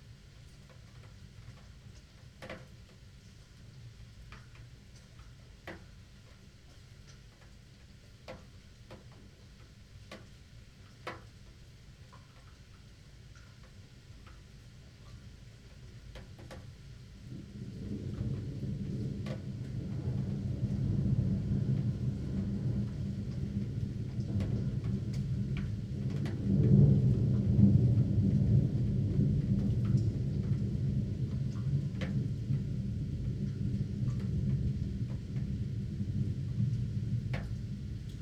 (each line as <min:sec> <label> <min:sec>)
0:00.0 rain 0:38.2
0:15.0 thunderstorm 0:38.2